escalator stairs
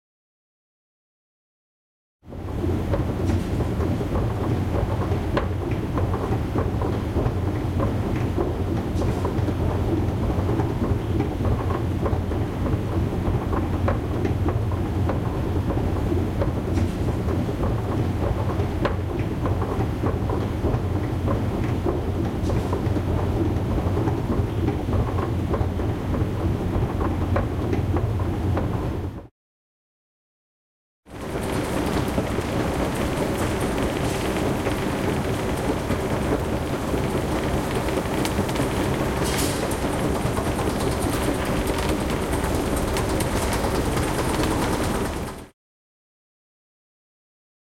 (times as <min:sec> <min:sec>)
0:31.1 0:45.5